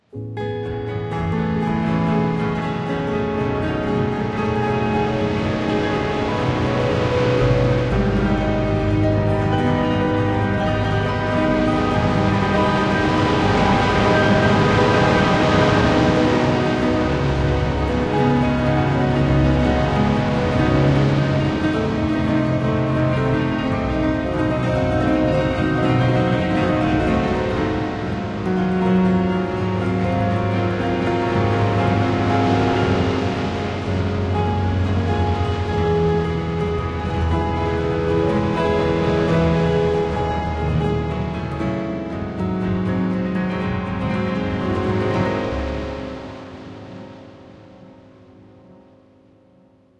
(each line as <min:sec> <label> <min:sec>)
0:00.0 Beach Piano 0:49.9
0:00.4 Waves 0:48.6